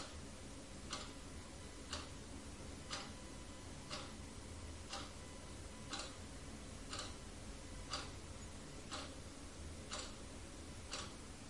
0.0s load clock is ticking 0.2s
0.8s load clock is ticking 2.2s
2.8s load clock is ticking 3.2s
3.8s load clock is ticking 4.2s
4.8s load clock is ticking 11.3s

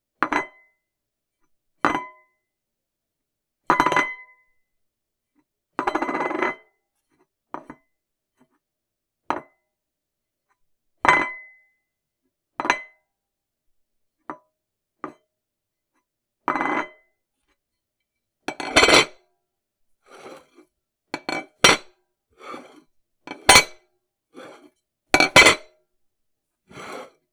21.2s dropping a ceramic plate on a countertop 22.7s
23.3s dropping a ceramic plate on a countertop 23.8s
25.2s dropping a ceramic plate on a countertop 25.7s

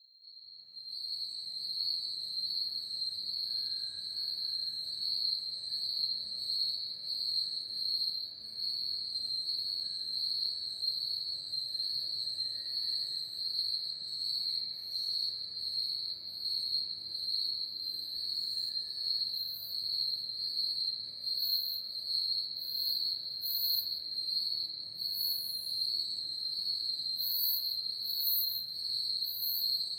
0.0s Forest crickets 29.9s
0.0s cicada 29.9s

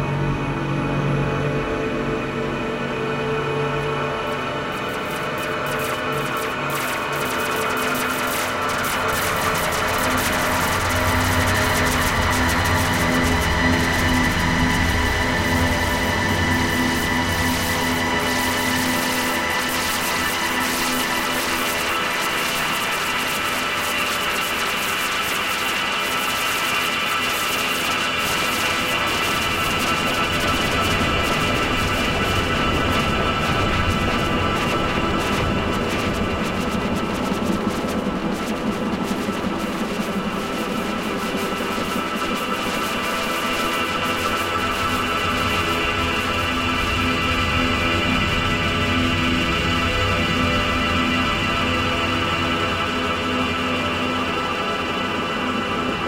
0.0s drone 56.0s

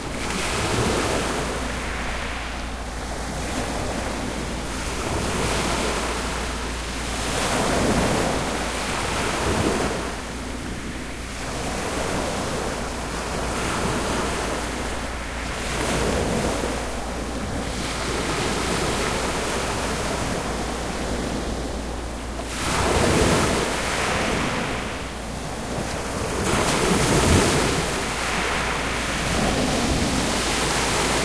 0.0s Distant low boat engine 31.2s
0.0s Waves crashing on a on shale beech 31.2s

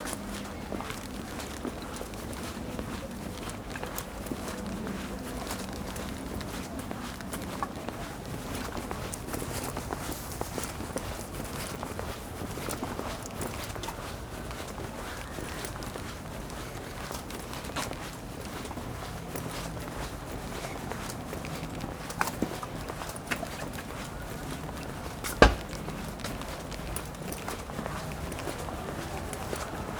0.0s distant voices and chatter 29.9s
0.0s slight wind 29.9s
25.3s footsteps 26.0s

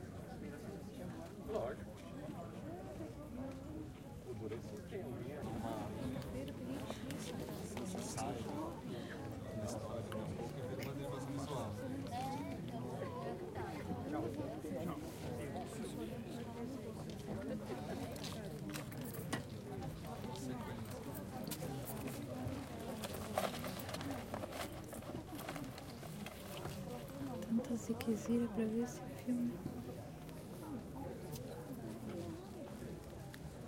0.0s People 33.6s

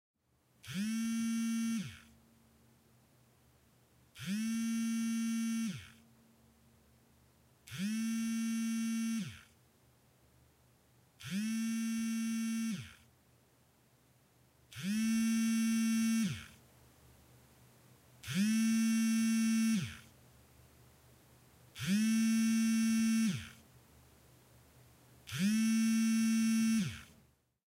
0.6s Mobile Phone Nokia 8210 Vibration 2.2s
4.1s Mobile Phone Nokia 8210 Vibration 6.2s
7.6s Mobile Phone Nokia 8210 Vibration 9.6s
11.2s Mobile Phone Nokia 8210 Vibration 13.1s
14.7s Mobile Phone Nokia 8210 Vibration 16.6s
18.2s Mobile Phone Nokia 8210 Vibration 20.2s
21.7s Mobile Phone Nokia 8210 Vibration 23.7s
25.2s Mobile Phone Nokia 8210 Vibration 27.3s

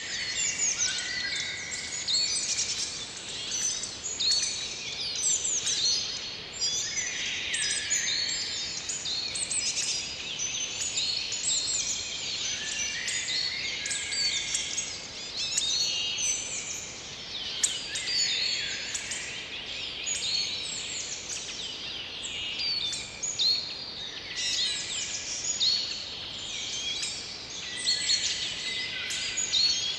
0.0s birdsong 29.9s

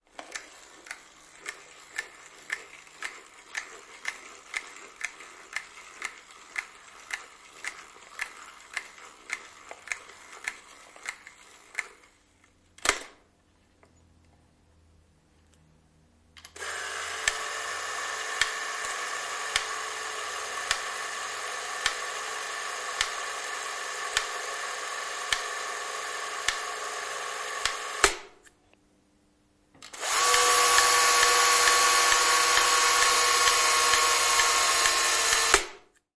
0.1s Old film camera, home movie camera, wind up, rolling 12.3s
16.4s Old film camera, home movie camera, wind up, rolling 28.3s
29.8s Old film camera, home movie camera, wind up, rolling 35.9s

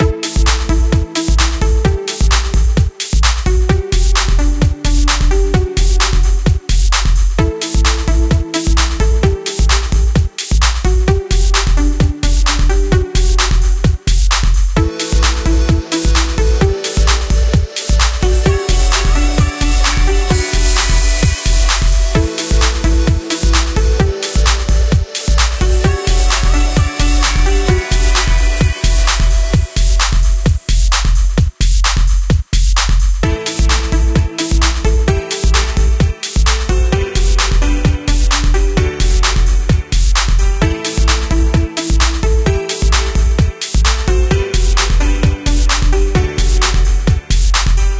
0.0s beat 47.9s

